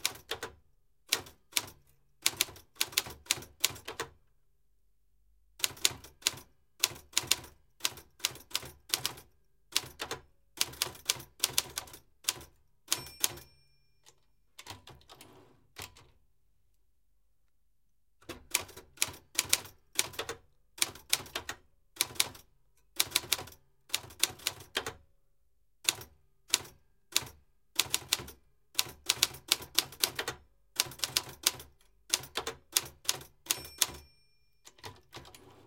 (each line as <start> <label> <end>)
0.0 old manual typewriter 4.0
5.6 old manual typewriter 13.5
18.2 old manual typewriter 25.0
25.9 old manual typewriter 35.6
34.7 typewriter carriage return by hand 35.6